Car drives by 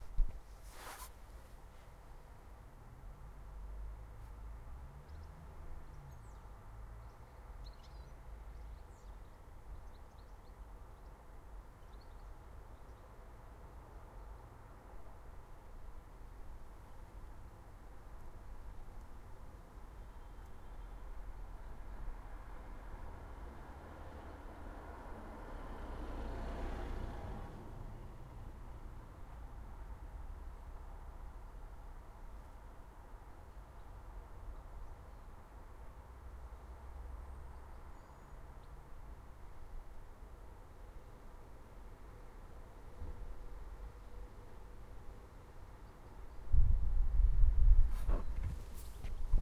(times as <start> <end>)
23.7 28.0